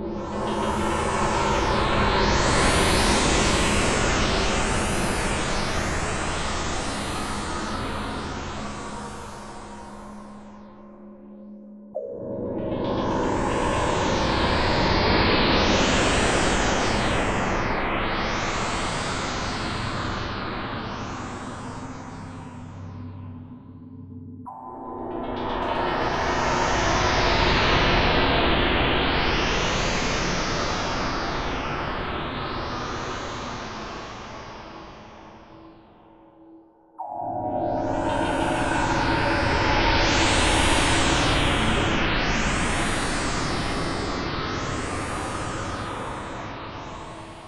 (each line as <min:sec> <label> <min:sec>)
0:37.0 darker atonal horror pads / stabs 0:44.0